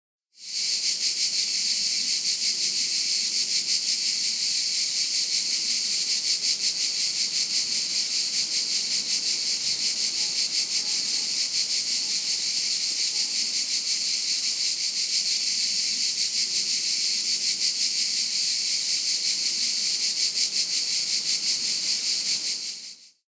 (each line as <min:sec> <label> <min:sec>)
0:00.4 chorus of grasshoppers singing 0:23.2